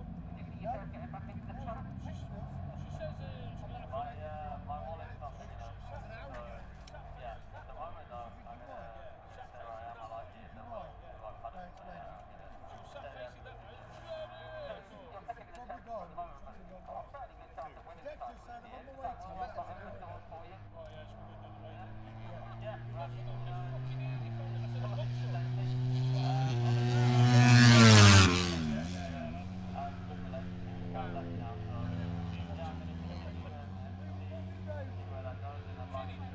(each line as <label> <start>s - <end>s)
british motorcycle grand prix 0.0s - 36.3s